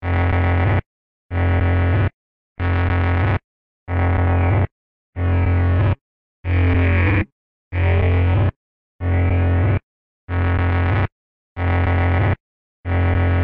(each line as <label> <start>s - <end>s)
lo fi alien beacon style drone 5.2s - 9.8s